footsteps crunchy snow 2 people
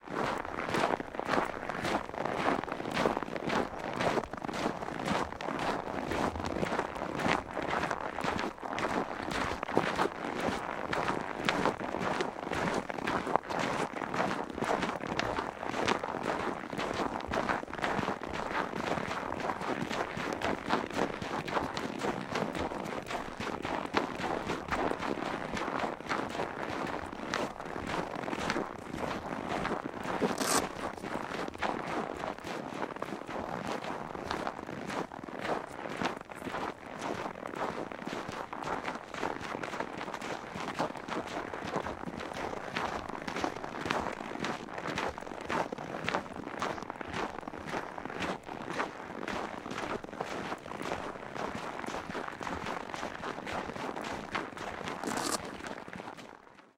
29.8 31.8, 55.0 55.6

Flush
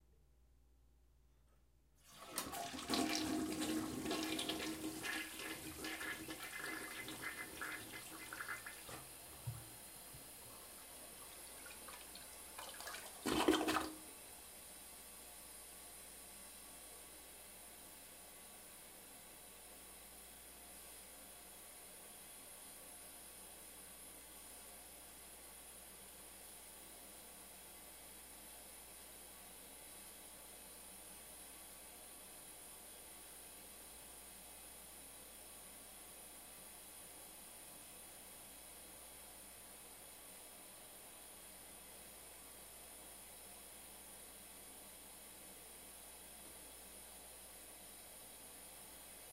2.1 9.6

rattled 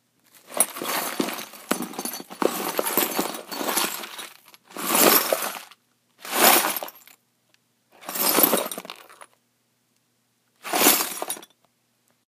0.5 5.7, 6.3 7.1, 8.0 9.1, 10.7 11.5

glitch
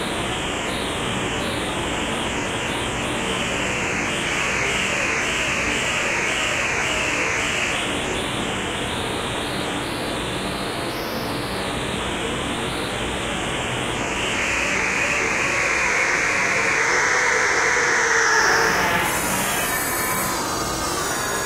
13.7 21.4

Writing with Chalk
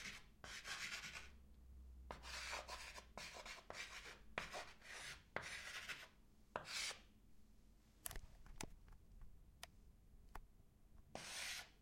0.0 1.3, 2.1 7.1, 11.1 11.8

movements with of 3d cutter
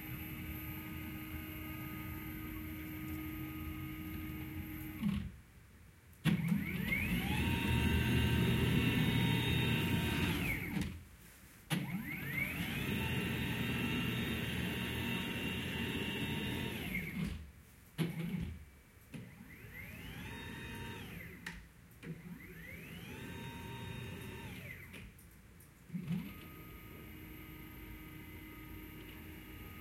6.2 11.0, 11.7 17.4, 19.1 25.1, 25.9 29.8

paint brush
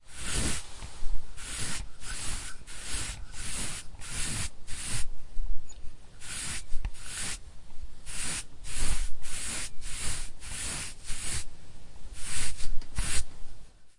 0.0 5.1, 6.2 7.4, 8.0 11.5, 12.1 13.3

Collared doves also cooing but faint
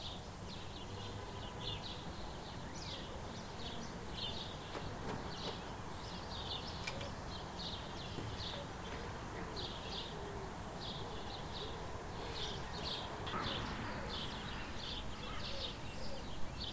6.8 16.7

